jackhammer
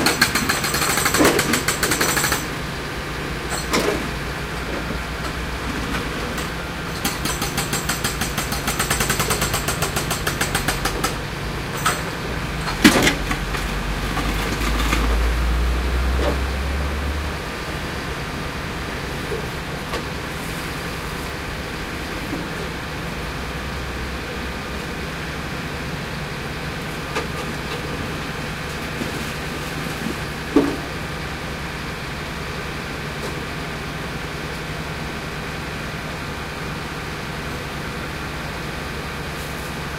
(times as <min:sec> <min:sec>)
0:00.0 0:02.6, 0:06.3 0:11.2